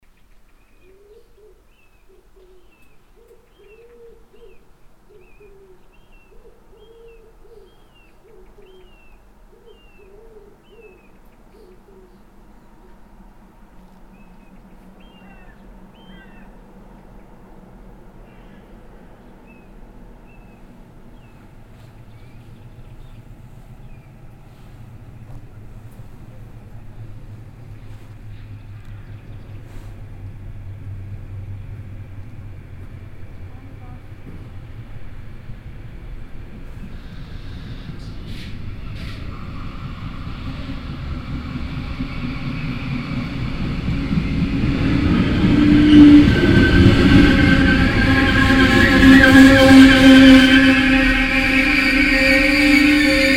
train leaves the station 0:07.8 - 0:53.3
train driving in 0:10.6 - 0:53.3
passengers enter the train 0:12.2 - 0:53.3

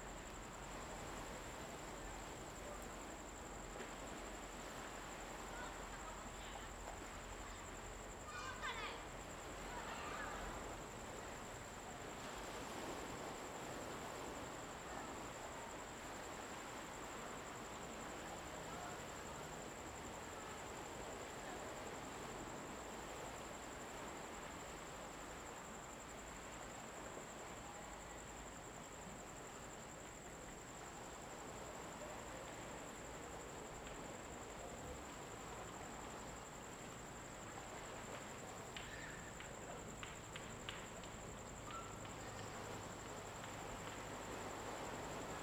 waves 0:00.0 - 0:45.4

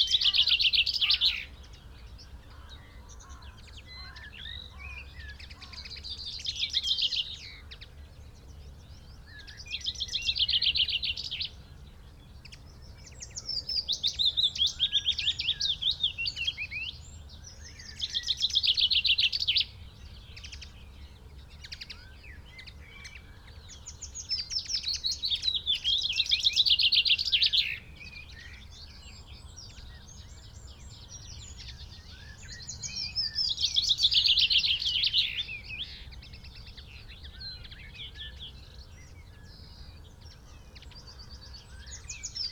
crow 0:00.0 - 0:01.5
red-legged partridge 0:00.0 - 0:01.6
blackbird 0:00.0 - 0:42.5
pheasant 0:00.0 - 0:42.5
willow warbler song 0:00.0 - 0:42.5
crow 0:02.4 - 0:06.0

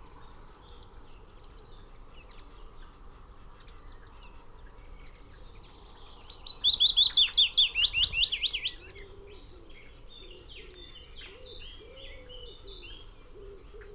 willow warbler 0:00.0 - 0:13.9
pheasant 0:00.2 - 0:13.9

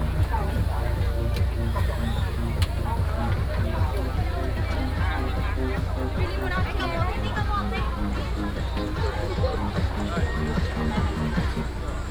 vendors peddling 0:00.0 - 0:12.1

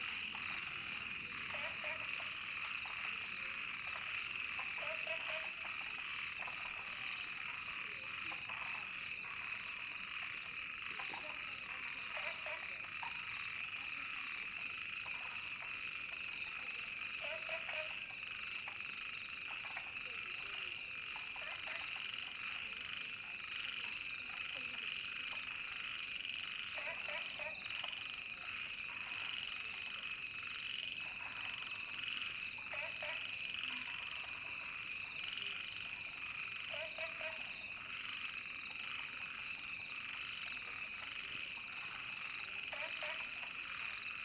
frog sounds 0:00.0 - 0:44.2

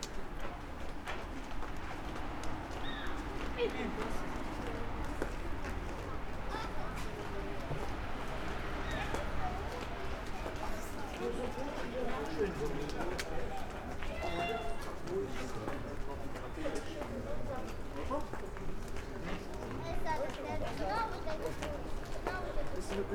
people 0:00.0 - 0:23.1

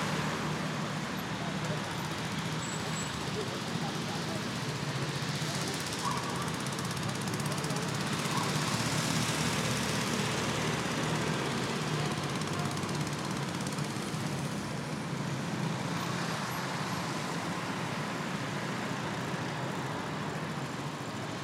traffic is constant 0:00.0 - 0:21.4
people in the distance talking 0:01.0 - 0:09.3
dogs barking 0:05.8 - 0:06.8
dogs barking 0:08.2 - 0:08.8

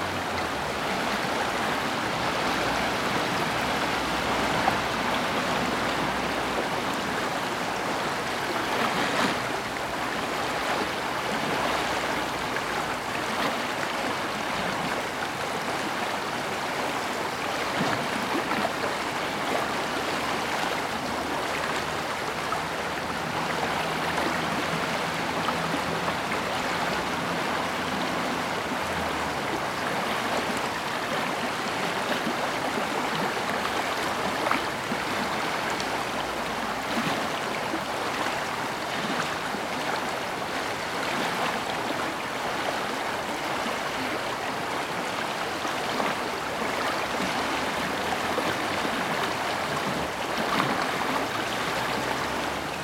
cars on the wet road 0:00.0 - 0:07.4
Warche river 0:00.0 - 0:52.8
cars on the wet road 0:22.6 - 0:32.4
cars on the wet road 0:46.4 - 0:52.8

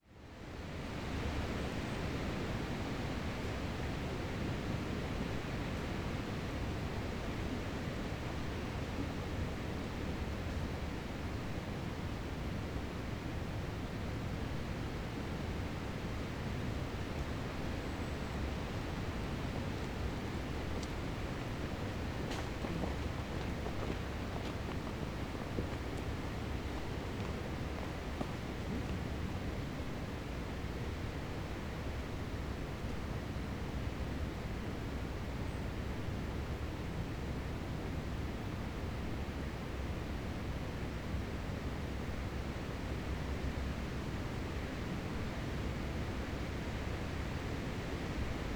wind blowing through the trees 0:17.2 - 0:30.4
hikers 0:17.6 - 0:30.5

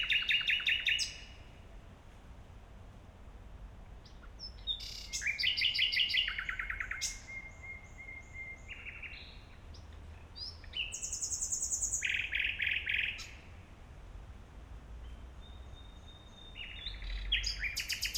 two nightingales singing 0:00.0 - 0:01.4
S-Bahn trains passing-by occasionally 0:00.0 - 0:18.1
two nightingales singing 0:04.0 - 0:13.5
two nightingales singing 0:15.4 - 0:18.1

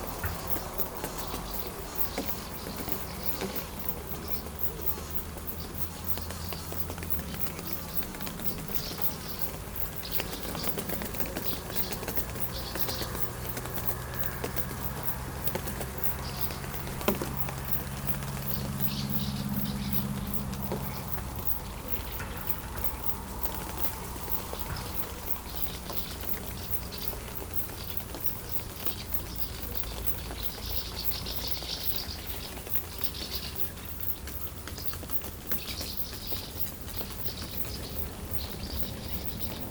poc-poc sounds on the transparent tarpaulins 0:00.0 - 0:39.7

